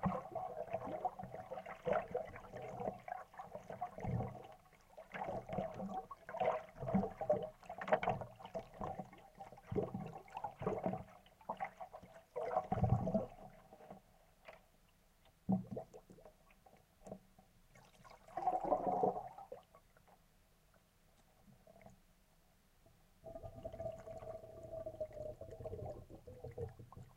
bubbling 17.7 - 19.7
bubbling 23.2 - 27.1

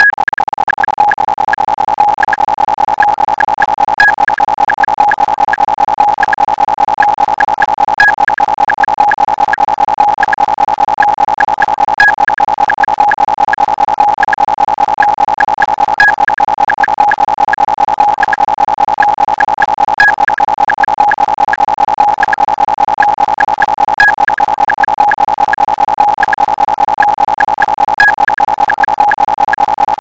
fast click-tracks 0.0 - 30.0
slow click-track 0.0 - 30.0

